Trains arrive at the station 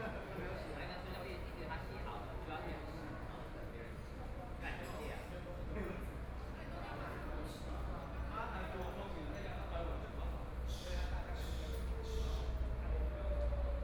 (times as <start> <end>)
5.3 13.8